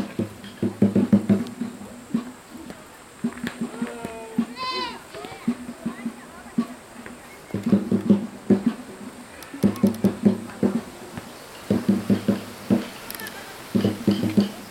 0.0s wind in the branches 14.7s

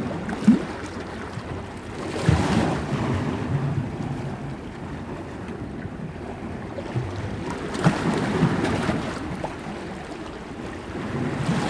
0.0s water between rocks 11.6s

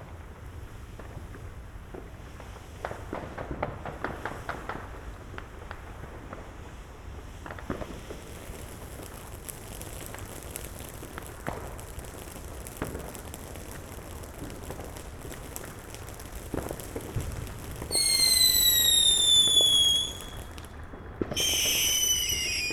0.0s Fireworks 22.7s
7.0s city erupts with explosions 22.7s

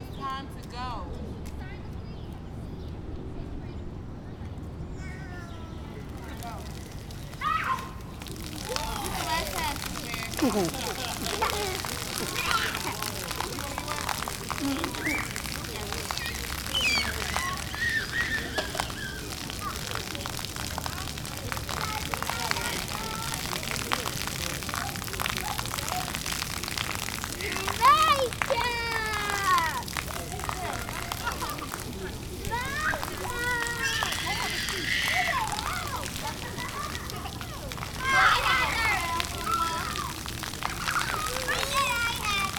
1.4s children 42.5s
4.6s Fountain 42.5s
10.4s laughter 11.8s

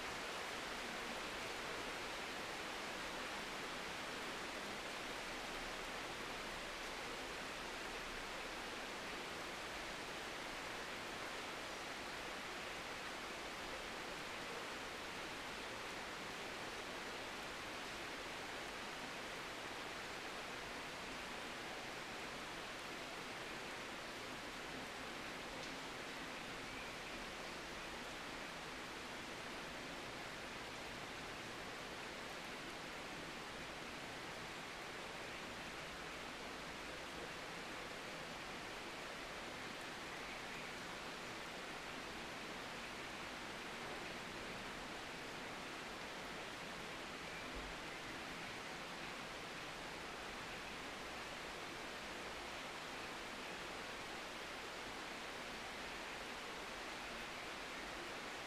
0.0s Heavy Rain 58.4s

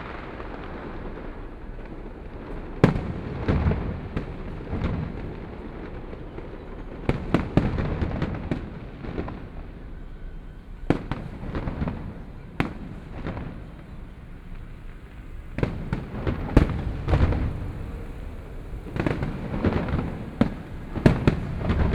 10.9s Fireworks sound 21.9s

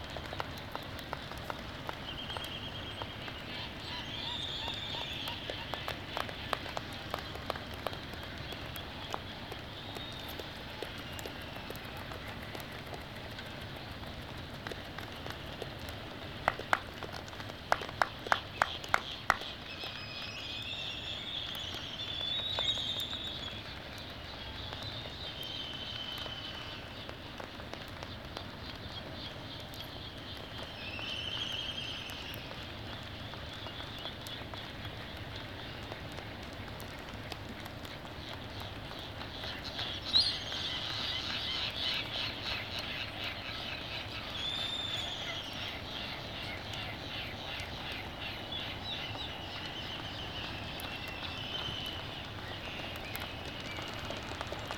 0.0s laysan albatross 20.0s
0.0s black-footed albatross 20.0s
31.3s black-footed albatross 54.7s

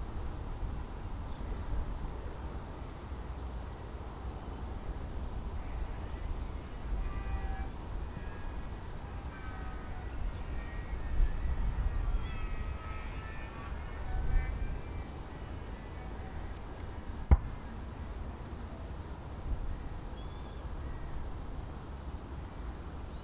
5.5s Birds 19.0s
19.6s Birds 21.2s

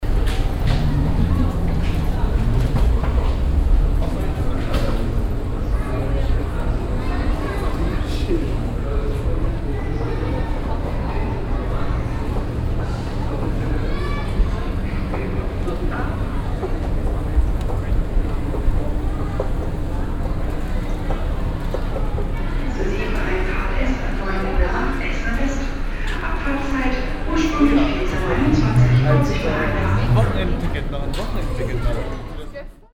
0.0s rolling luggage 6.4s
0.0s moving staircase leading up to track 6 7.0s
22.6s an announcement 32.2s
27.3s moving staircase leading up to track 6 31.6s

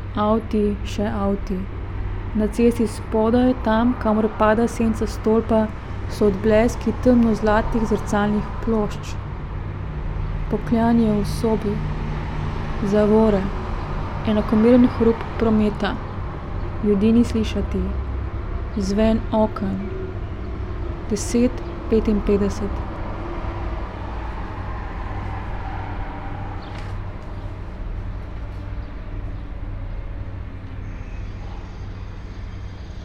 2.3s Srebrn vlak zgoraj z rumenimi črtami 9.2s
10.5s Srebrn vlak zgoraj z rumenimi črtami 12.0s
21.0s Srebrn vlak zgoraj z rumenimi črtami 22.9s

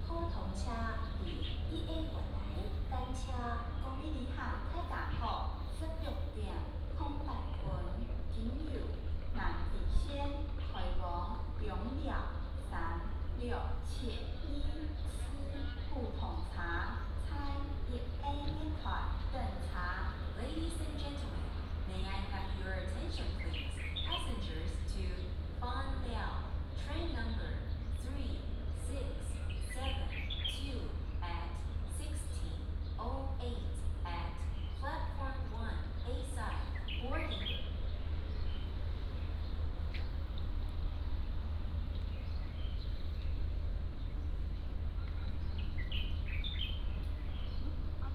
0.0s Birds singing 9.2s
9.9s Birds singing 48.1s

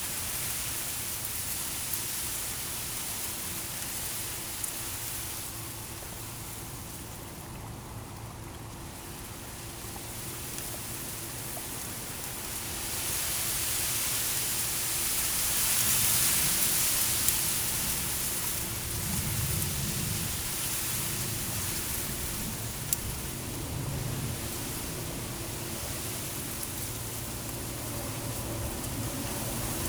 0.0s small barge arriving in the sluice 29.8s
0.0s wind in the reeds 29.8s

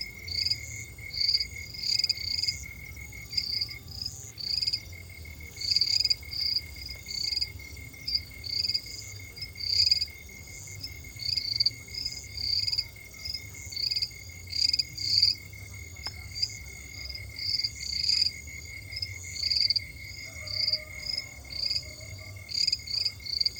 0.0s insects 23.5s

